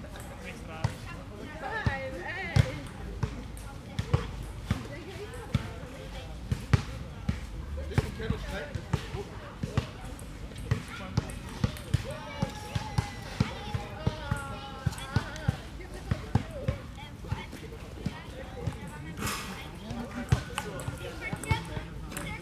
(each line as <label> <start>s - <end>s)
people 0.0s - 22.4s
Ballgames 9.6s - 22.4s